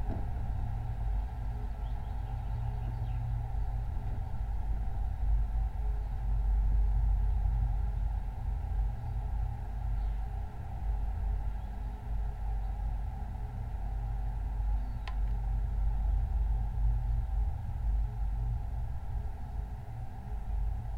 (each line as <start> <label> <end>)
0.0 Rain pipe on abandone building 2.4